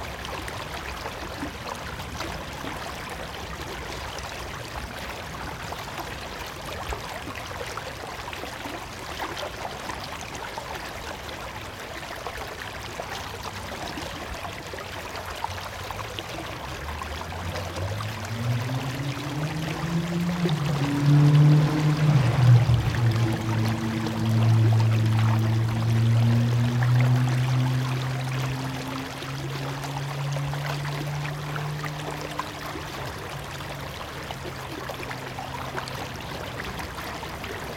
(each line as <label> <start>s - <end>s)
gurgling of a small river 0.0s - 37.7s